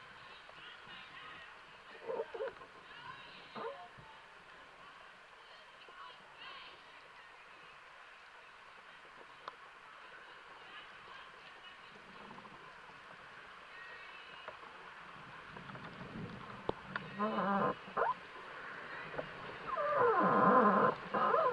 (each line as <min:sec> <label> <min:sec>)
0:02.0 Creaking Tree 0:02.8
0:11.9 Creaking Tree 0:13.2
0:15.3 Creaking Tree 0:21.5